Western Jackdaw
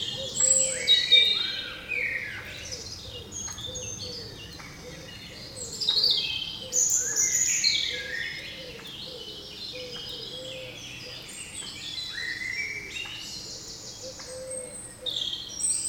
0:14.1 0:14.8

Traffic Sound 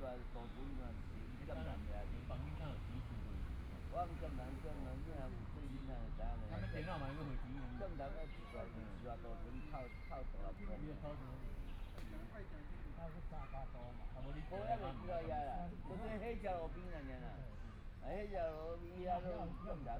0:00.0 0:06.5

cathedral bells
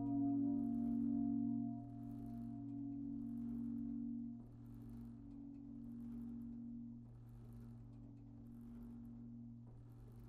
0:00.0 0:06.5

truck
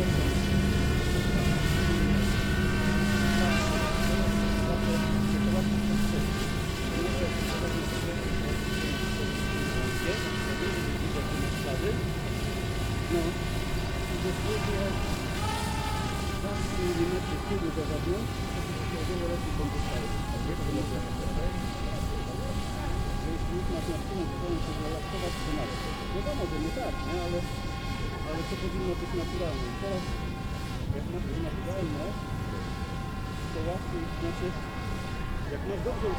0:00.0 0:02.2

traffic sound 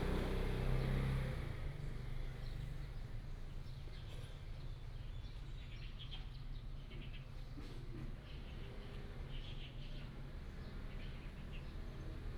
0:00.0 0:01.4

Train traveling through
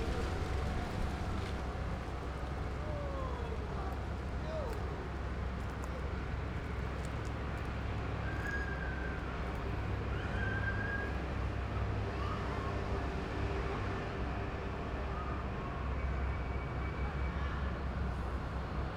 0:00.0 0:04.2

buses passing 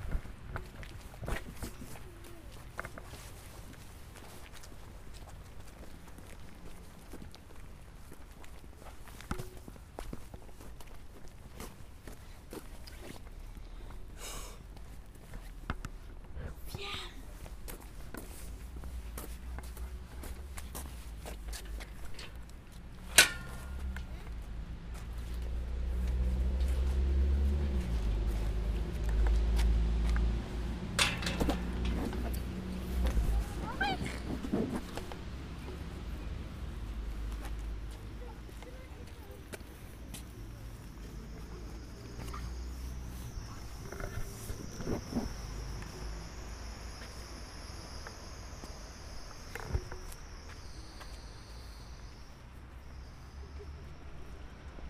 0:16.4 0:54.8

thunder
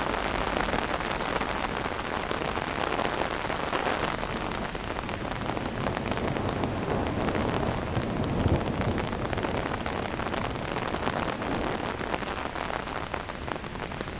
0:05.3 0:11.8

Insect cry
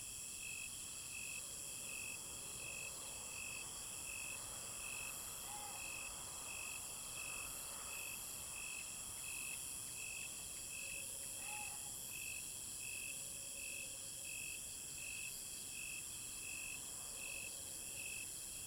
0:05.0 0:06.7, 0:10.7 0:12.4

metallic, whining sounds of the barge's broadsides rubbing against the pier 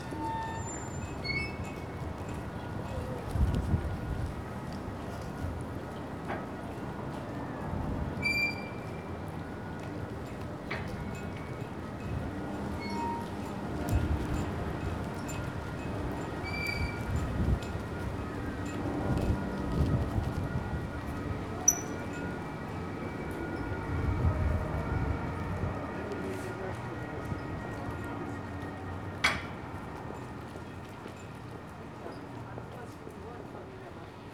0:00.0 0:02.0

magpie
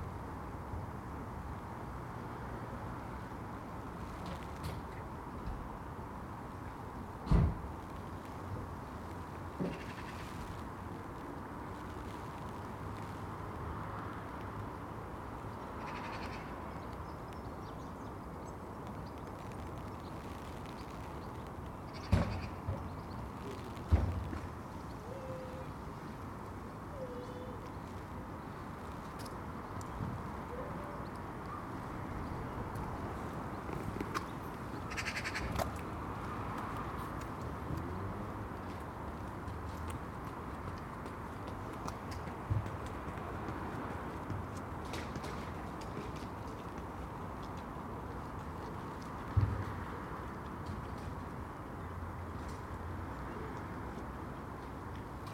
0:34.9 0:35.5

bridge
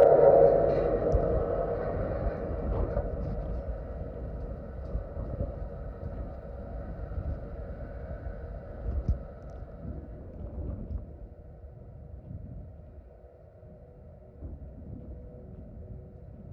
0:00.0 0:09.8

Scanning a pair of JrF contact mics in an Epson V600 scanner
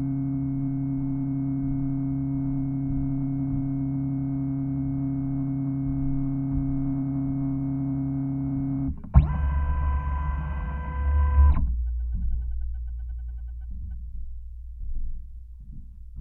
0:09.0 0:11.7

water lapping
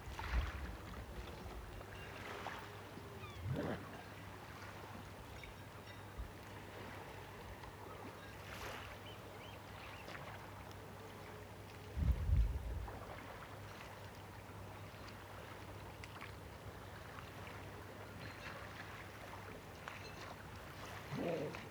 0:15.2 0:21.7

